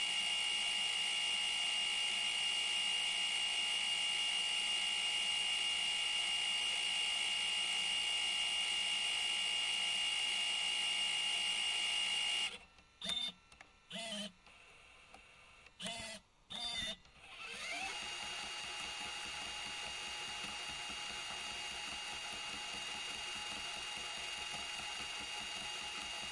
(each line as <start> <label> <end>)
0.0 working Sony CCD-TR55E Video8 Camcorder 26.3
12.8 click 16.0
13.9 rewind 21.8